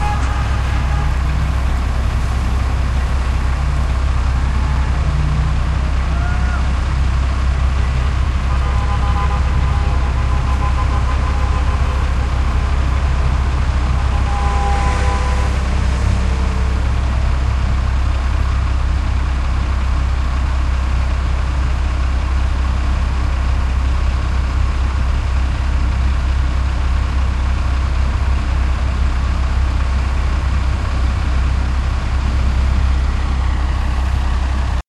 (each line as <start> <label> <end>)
0.0 Suburban traffic 34.8